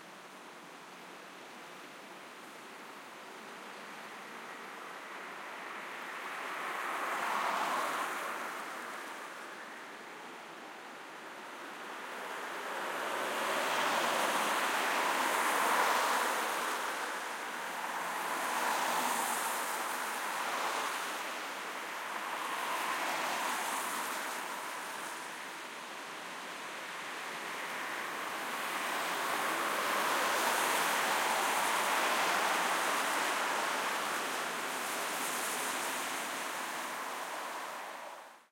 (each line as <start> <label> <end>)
3.7 cars passing by 38.5